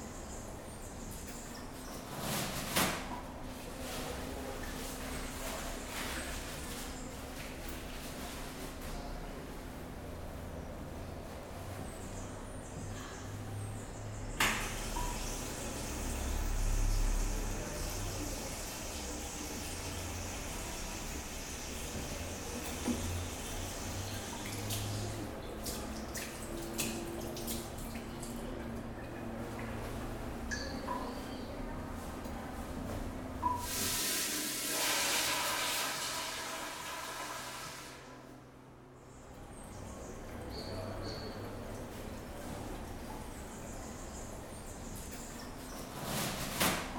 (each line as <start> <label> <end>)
0.0 Llaves de agua 32.9